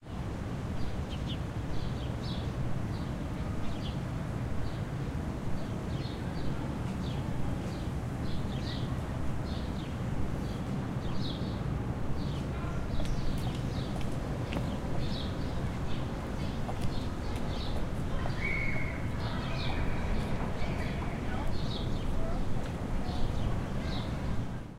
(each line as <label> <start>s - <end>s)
birds 12.2s - 24.6s